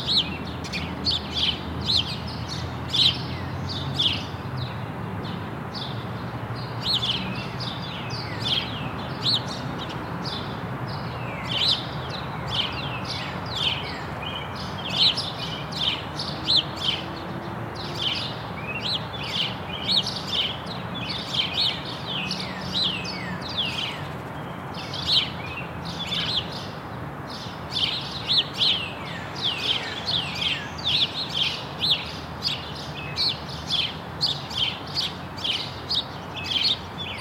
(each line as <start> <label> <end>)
0.0 birds 37.2